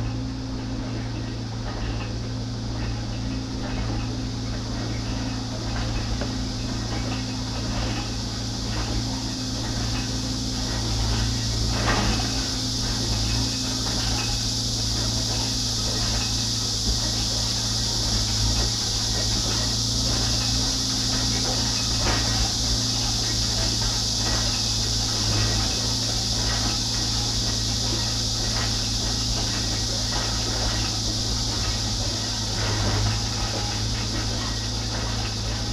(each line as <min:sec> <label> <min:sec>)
0:00.0 construction 0:35.7
0:00.0 cicadas 0:35.7